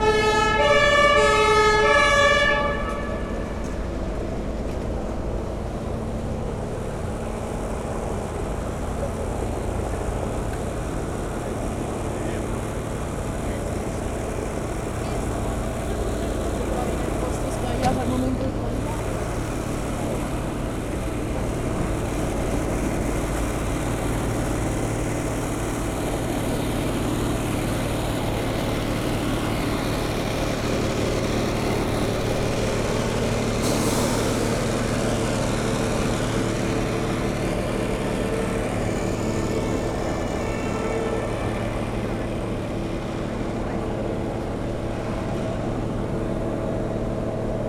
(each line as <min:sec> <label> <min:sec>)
0:00.0 police cars 0:47.6
0:00.0 trucks 0:47.6
0:00.0 vans 0:47.6